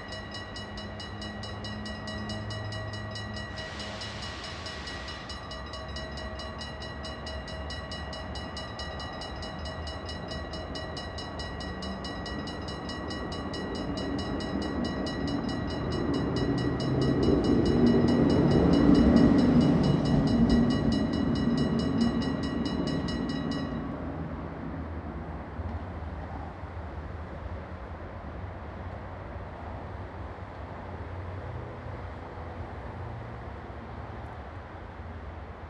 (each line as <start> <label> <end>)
0.0 train crossing with warning bell 24.9